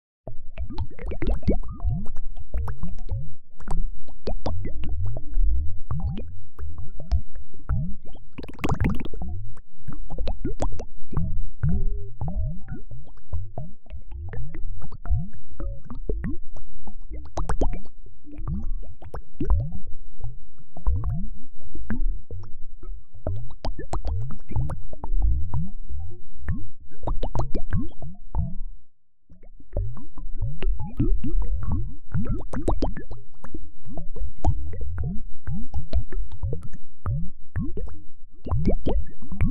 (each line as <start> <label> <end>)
0.0 bass 39.5
0.6 bubbles 3.1
8.3 bubbles 9.3
9.9 bubbles 11.2
17.1 bubbles 19.8
27.0 bubbles 28.0
31.0 bubbles 33.6
37.6 bubbles 39.5